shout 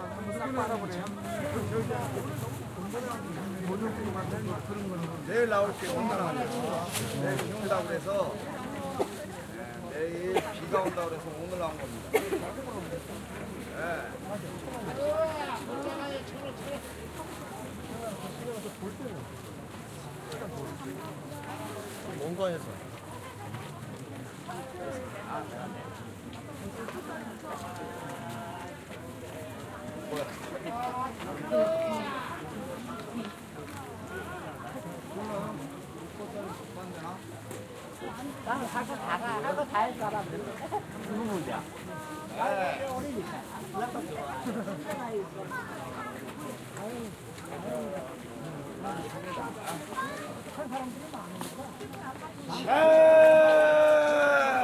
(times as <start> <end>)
52.6 54.6